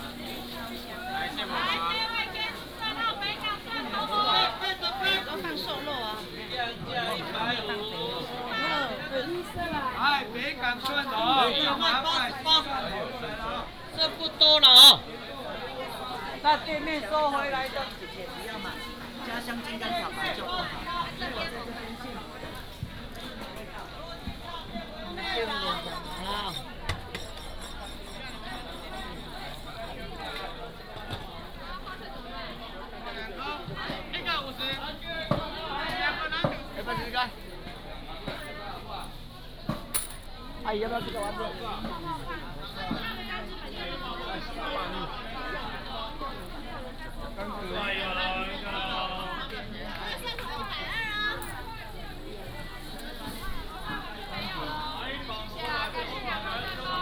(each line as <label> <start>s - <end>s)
Market selling sound 0.0s - 33.2s
Walking in the traditional market 0.0s - 57.0s